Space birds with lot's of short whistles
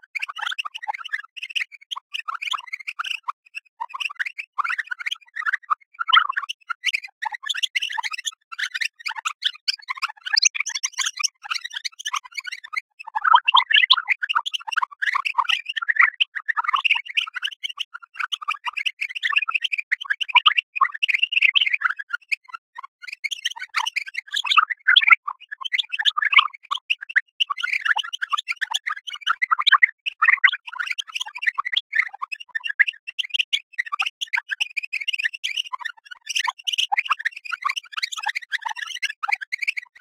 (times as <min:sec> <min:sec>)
0:08.6 0:12.8